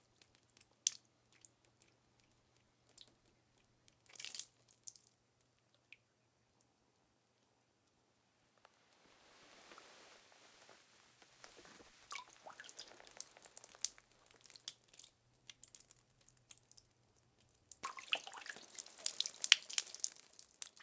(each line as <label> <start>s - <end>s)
water trickle drips drops small splash onto concrete floor 0.0s - 6.0s
water trickle drips drops small splash onto concrete floor 12.1s - 20.8s